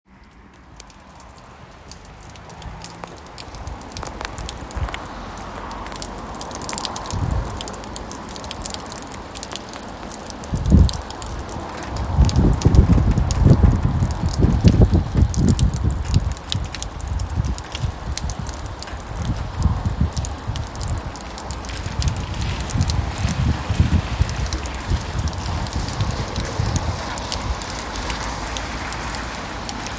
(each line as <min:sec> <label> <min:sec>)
0:00.1 rain 0:29.9
0:00.1 traffic passing by 0:29.9